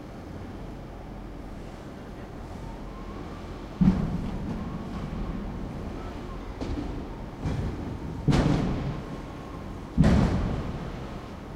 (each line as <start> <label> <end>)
0.0 loading trucks 11.5
3.8 workers are clearing away trash 11.5